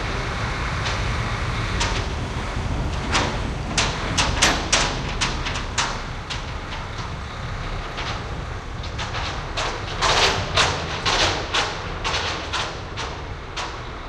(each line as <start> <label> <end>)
0.0 noisy garbage truck passing-by 14.0